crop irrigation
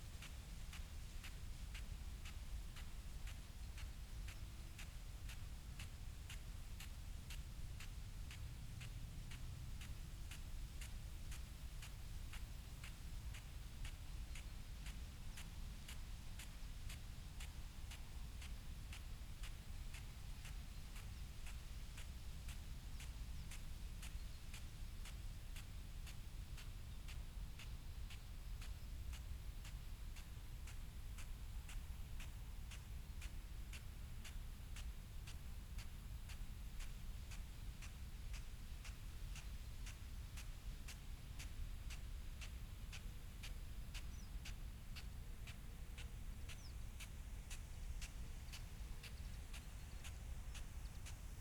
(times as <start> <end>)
42.5 51.4